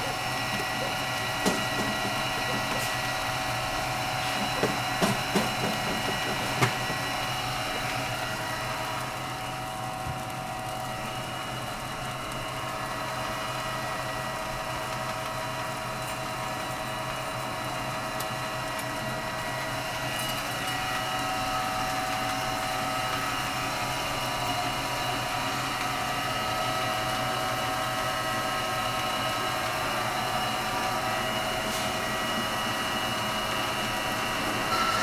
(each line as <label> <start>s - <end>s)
Dogs barking 0.0s - 3.2s
Feed delivery piping voice 0.0s - 8.4s
Feed delivery piping voice 20.8s - 35.0s